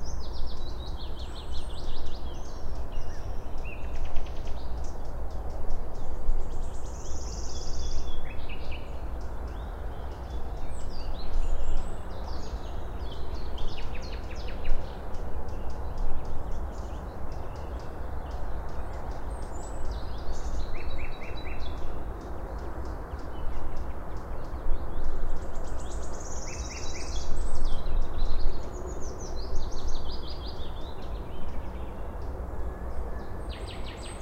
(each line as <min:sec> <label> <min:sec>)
0:00.0 birds 0:34.2